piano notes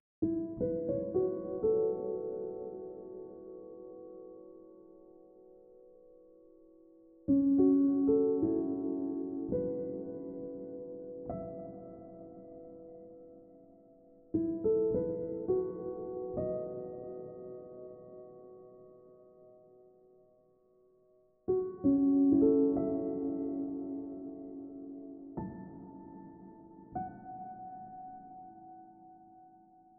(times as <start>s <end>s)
21.5s 29.7s